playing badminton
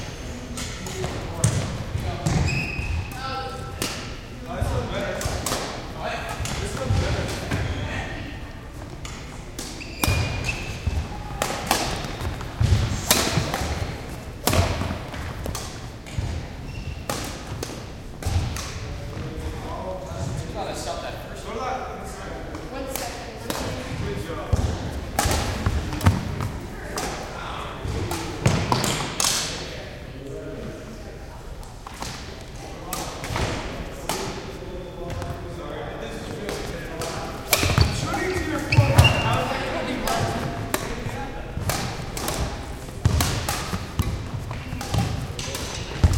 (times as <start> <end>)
0.1 19.2, 22.5 29.7, 36.1 46.1